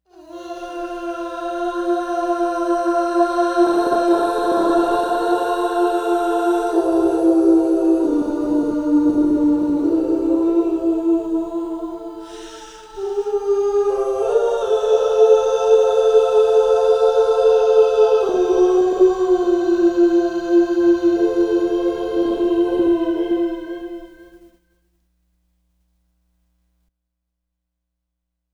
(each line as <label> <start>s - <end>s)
angelic vocal sound 0.1s - 24.4s